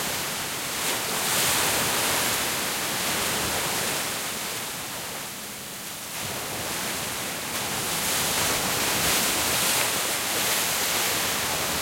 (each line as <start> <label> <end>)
0.0 Waves crashing against a seawall 11.8